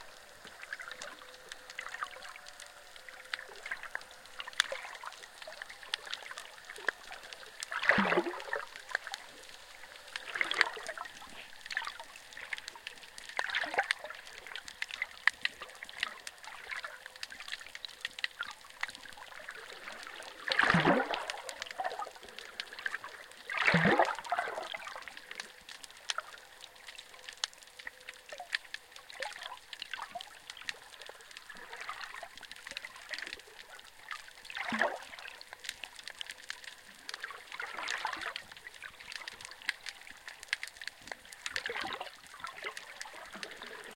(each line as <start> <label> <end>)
0.0 waves 43.9
20.5 bubble 22.0
23.5 bubble 24.8